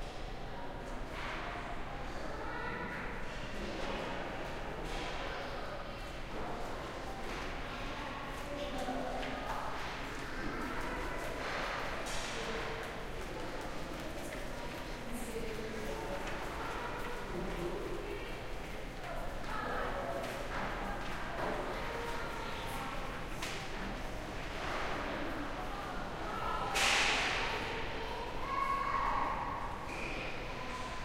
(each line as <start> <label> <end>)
0.5 chatter 31.0